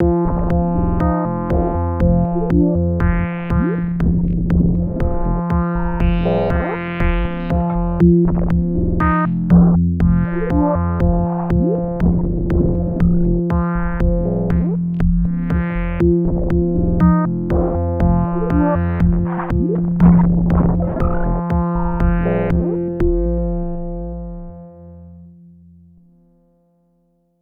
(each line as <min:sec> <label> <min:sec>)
0:00.0 Drum loop with bit crushing 0:24.5